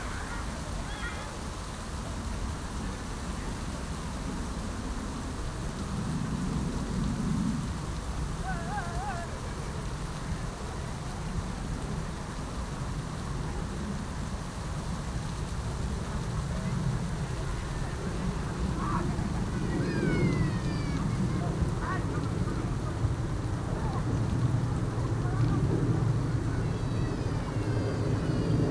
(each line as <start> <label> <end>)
0.0 wind 28.7
16.6 activity of people 28.7